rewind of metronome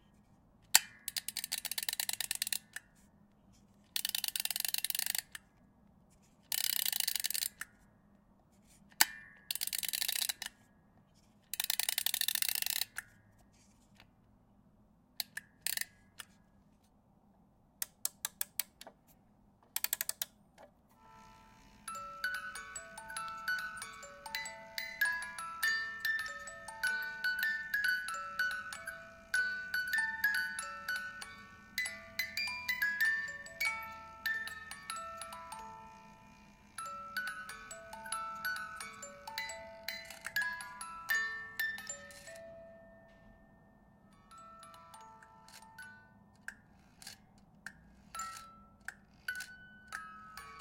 21.0s 43.3s, 44.1s 50.6s

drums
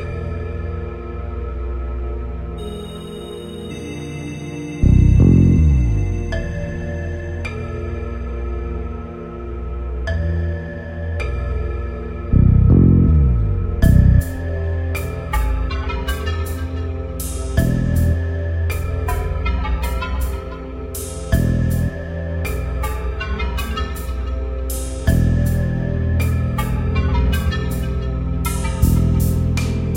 13.8s 29.9s

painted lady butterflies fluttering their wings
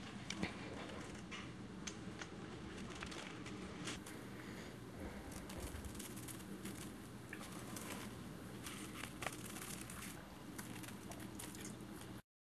5.0s 12.2s

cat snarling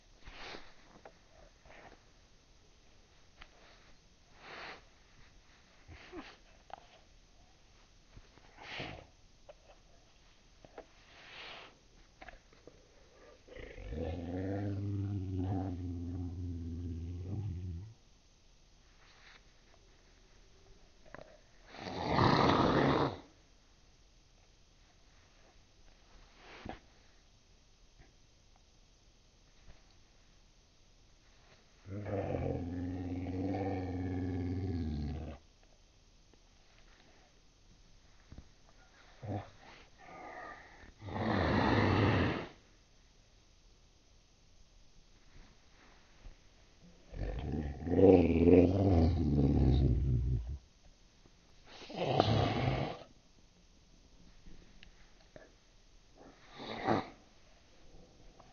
13.1s 17.9s, 21.7s 23.3s, 39.2s 42.6s, 51.7s 53.1s, 56.2s 57.2s

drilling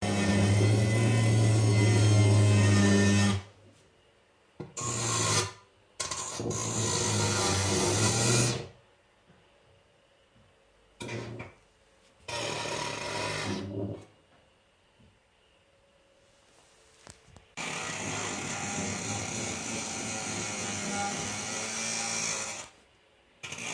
0.0s 3.5s, 4.8s 8.7s, 12.3s 13.9s, 17.6s 22.8s, 23.4s 23.7s

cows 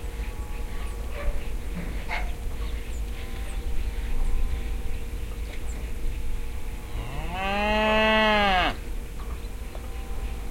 6.6s 8.9s

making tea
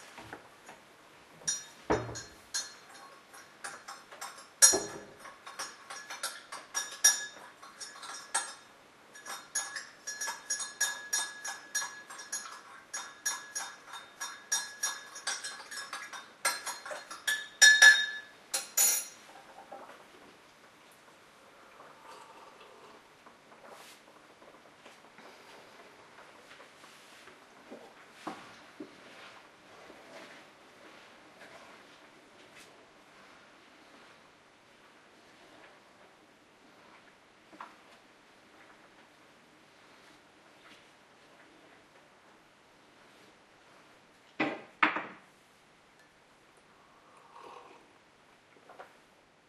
1.4s 20.2s

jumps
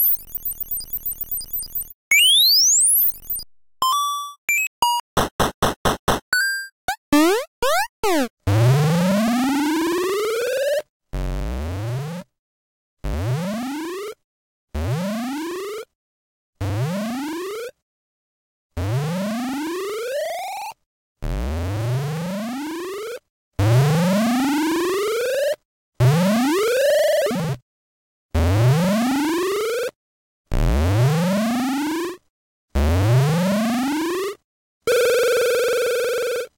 4.5s 8.3s

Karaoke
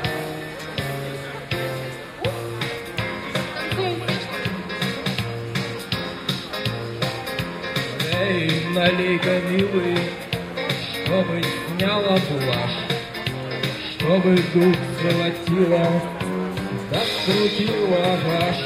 7.6s 18.6s

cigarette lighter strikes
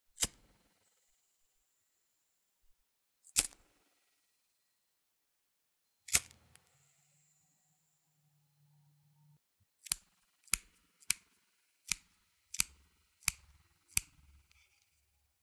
3.4s 3.6s, 6.1s 6.6s, 11.9s 14.3s

